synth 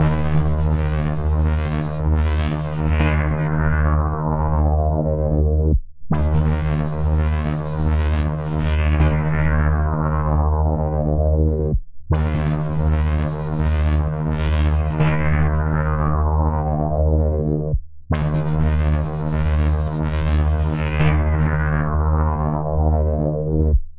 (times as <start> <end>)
0.0 2.6